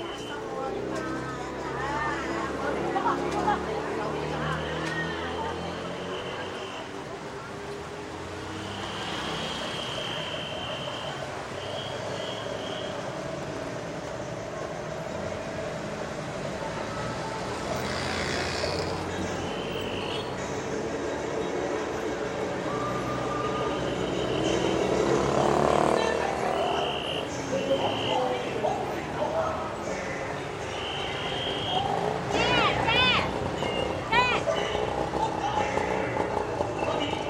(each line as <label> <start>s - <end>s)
chinese opera on the street 0.0s - 37.2s
people around 0.0s - 37.2s